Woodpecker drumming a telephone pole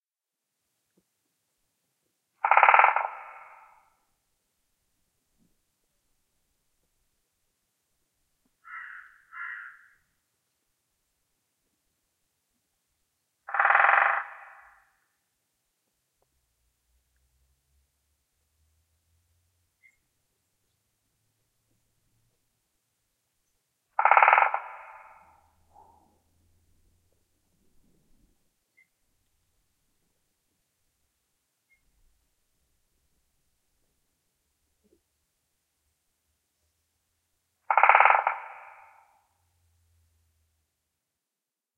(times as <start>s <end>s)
2.4s 3.9s, 8.6s 10.0s, 13.5s 15.0s, 23.9s 26.0s, 37.6s 39.3s